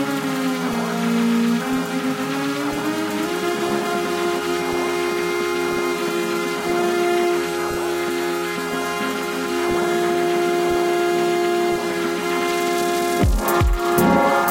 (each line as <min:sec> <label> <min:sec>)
0:00.0 Beat 0:14.5
0:00.0 Granular Synth 0:14.5